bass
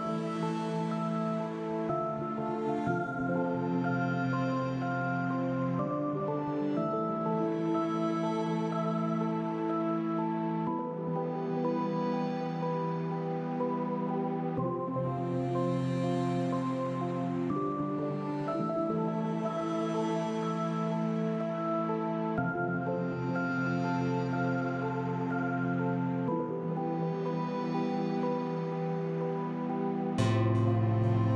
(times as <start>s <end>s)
29.6s 31.3s